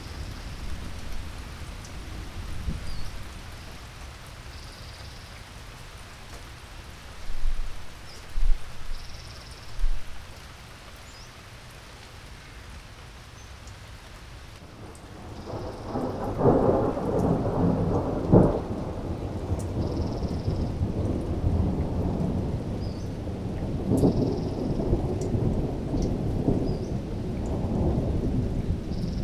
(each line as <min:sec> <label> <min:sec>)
0:00.0 Rain hitting the dry gutters 0:29.2
0:02.8 Birds 0:03.8
0:11.0 Birds 0:11.4
0:14.8 Thunder 0:29.2